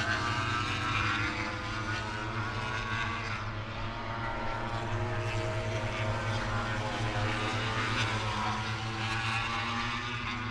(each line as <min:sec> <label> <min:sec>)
0:00.0 moto grand prix 0:10.5